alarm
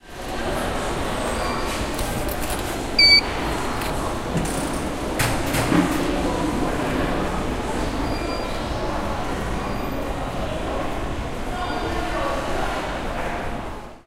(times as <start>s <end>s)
3.0s 3.2s